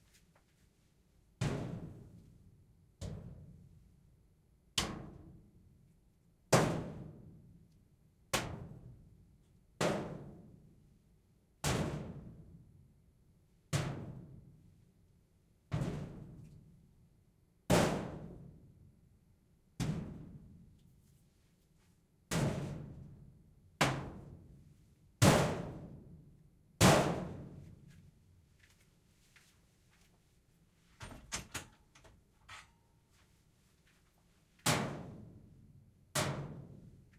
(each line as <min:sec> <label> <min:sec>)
0:31.0 Hitting a metal vent with various objects 0:32.9